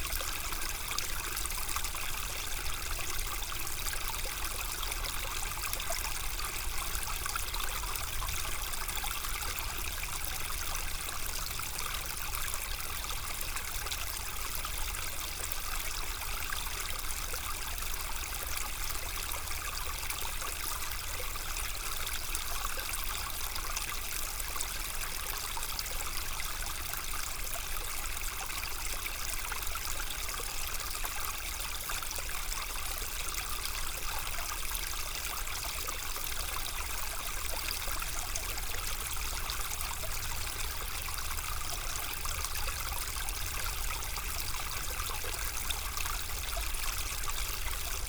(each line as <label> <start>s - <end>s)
very quiet Ry Pirot stream, flowing 0.0s - 48.0s